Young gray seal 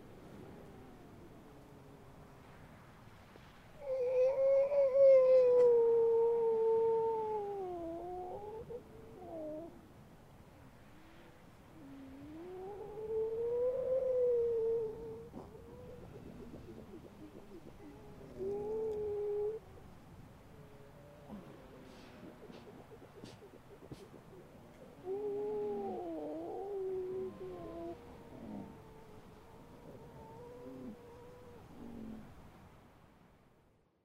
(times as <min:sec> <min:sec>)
0:13.5 0:19.9, 0:20.8 0:32.4